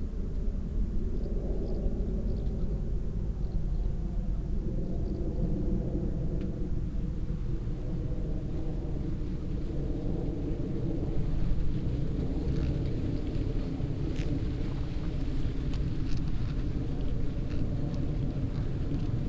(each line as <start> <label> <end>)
0.0 leaves, that move in the mild late summer wind 19.2
0.0 plane passing the sky 19.2
7.5 horse moving uphill 19.2